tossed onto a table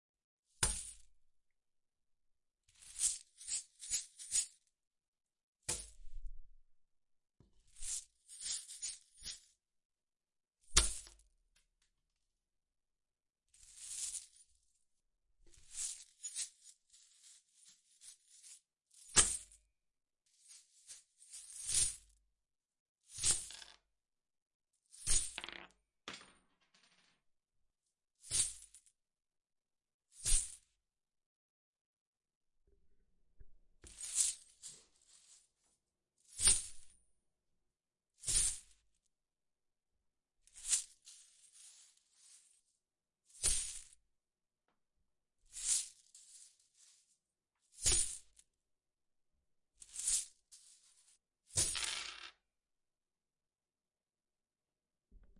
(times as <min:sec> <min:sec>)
0:25.2 0:27.1, 0:51.6 0:52.3